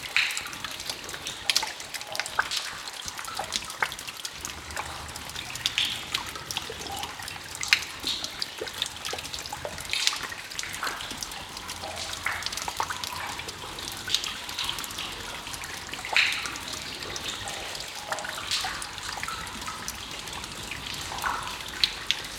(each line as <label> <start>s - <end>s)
water dripping down the stone walls 0.0s - 22.3s